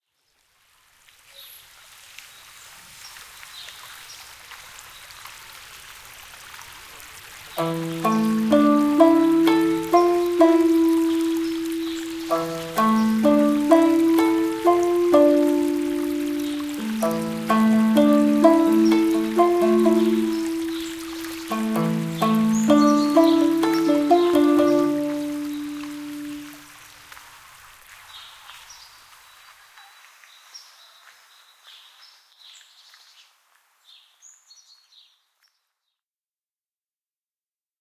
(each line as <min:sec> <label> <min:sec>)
0:00.0 water 0:34.2
0:07.6 music from a shamisen 0:26.6